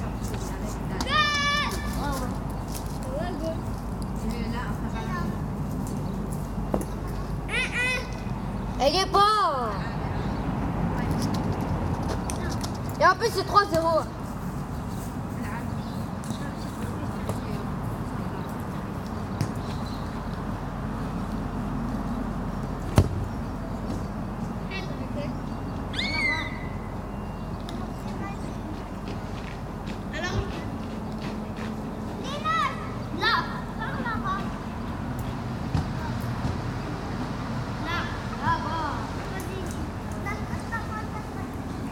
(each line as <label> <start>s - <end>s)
Children playing football 0.9s - 2.3s
Children playing football 27.8s - 36.8s